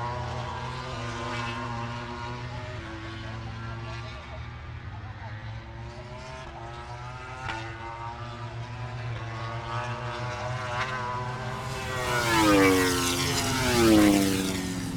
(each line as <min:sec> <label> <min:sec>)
0:00.0 moto grand prix 0:14.9